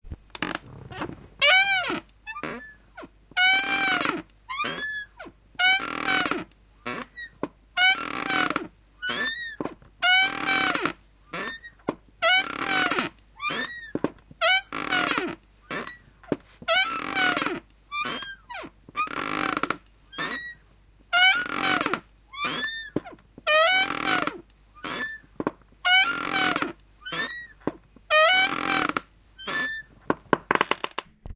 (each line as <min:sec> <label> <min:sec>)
0:00.3 Creaking Rocking chair 0:31.3